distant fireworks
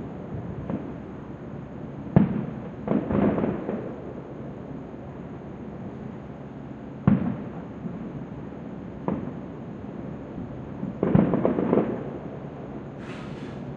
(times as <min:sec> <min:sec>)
0:00.1 0:01.2, 0:02.0 0:04.8, 0:07.0 0:13.7